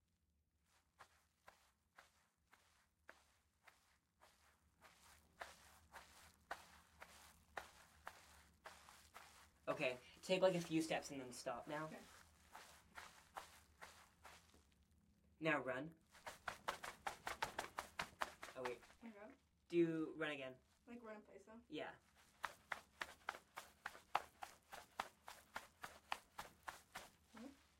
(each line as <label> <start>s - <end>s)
quiet footsteps on dirt/grass 0.6s - 15.0s
quiet footsteps on dirt/grass 16.0s - 19.2s
quiet footsteps on dirt/grass 22.0s - 27.7s